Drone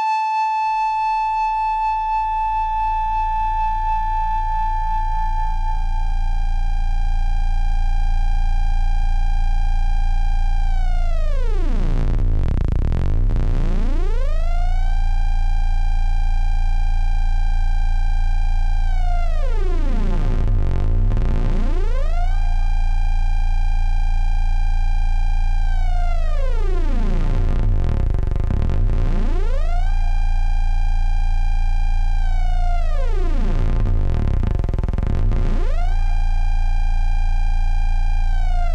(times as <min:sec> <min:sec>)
0:09.3 0:38.7